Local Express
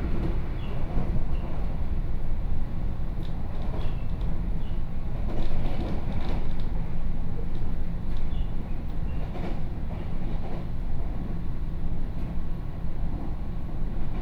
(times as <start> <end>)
0.0 3.0